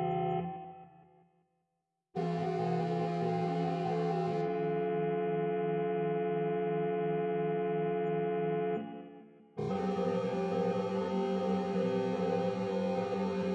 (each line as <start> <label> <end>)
9.6 Drones 13.5